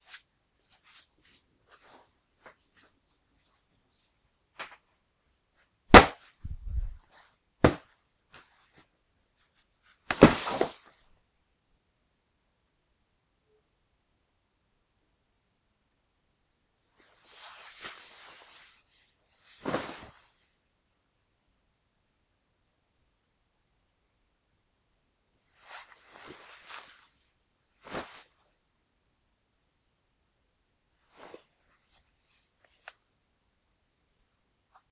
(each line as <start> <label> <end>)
5.9 Fall on the floor (v. cushion) 7.0
7.6 Fall on the floor (v. cushion) 7.9
10.1 Fall on the floor (v. cushion) 10.9
19.6 Fall on the floor (v. cushion) 20.2